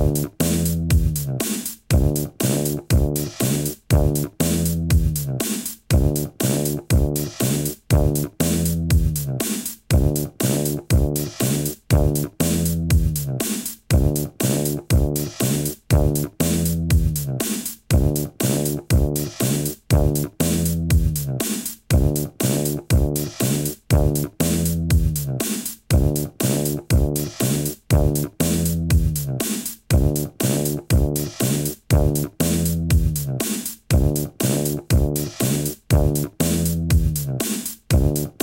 0.0s bass 38.4s
0.0s drums 38.4s

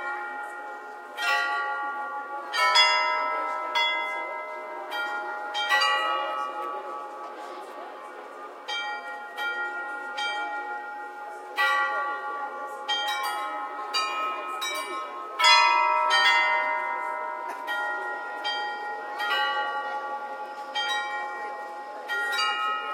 0.0s Astronomical clock 22.9s

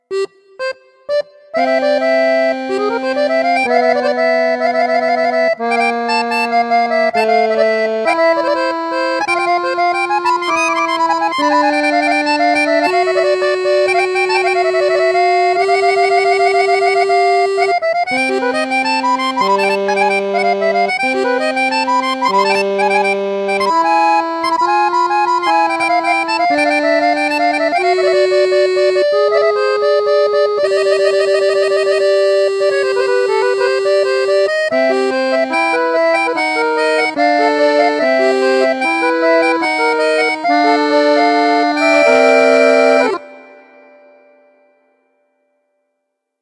0.0s accordion 45.1s

